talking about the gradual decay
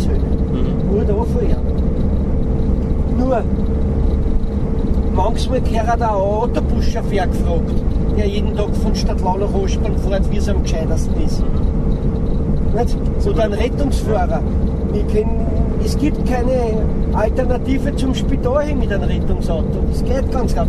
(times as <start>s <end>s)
0.0s 1.6s